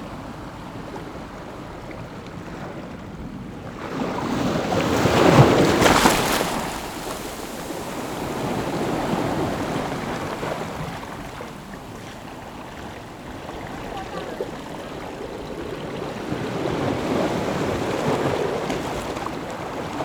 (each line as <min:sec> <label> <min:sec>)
0:00.0 waves 0:20.0